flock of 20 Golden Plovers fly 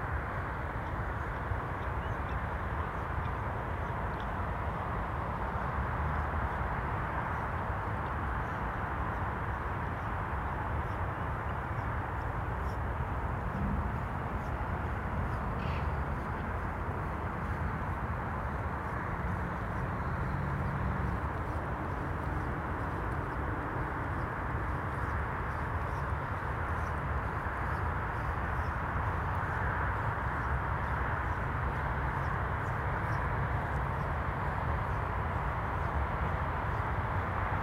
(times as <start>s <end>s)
8.4s 37.3s